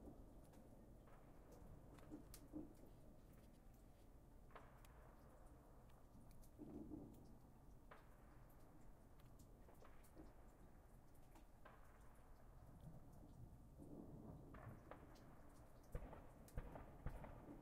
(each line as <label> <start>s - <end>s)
melting snow dripping off of my porch's roof 0.0s - 17.6s